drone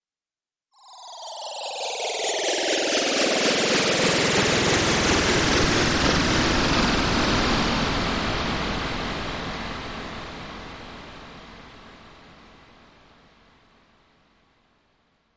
0:00.8 0:12.8

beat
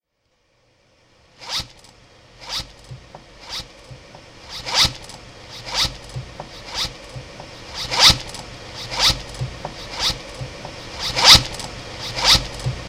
0:08.9 0:11.4

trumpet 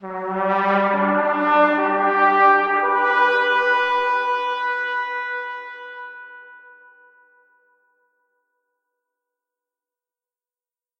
0:00.0 0:07.8

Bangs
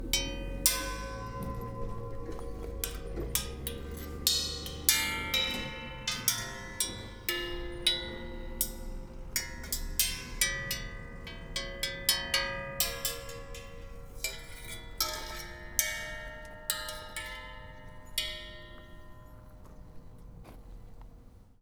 0:00.0 0:16.2

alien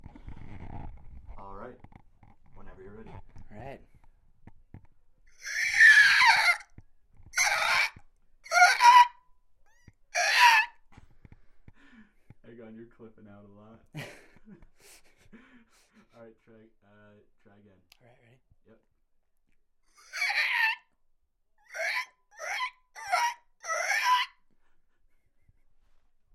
0:05.4 0:06.7, 0:07.4 0:09.1, 0:20.0 0:20.8, 0:21.7 0:24.3

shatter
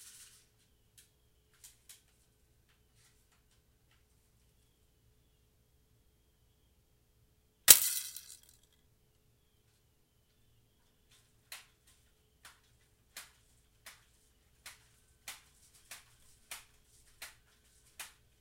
0:07.7 0:08.6

